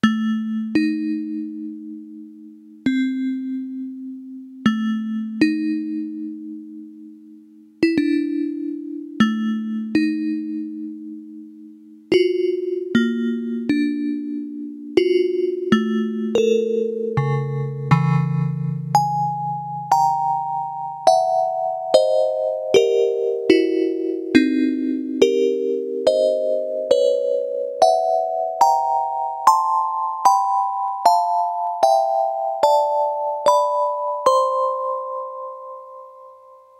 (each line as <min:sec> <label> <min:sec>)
0:00.0 keyboard with built-in FM-synthesizer 0:36.7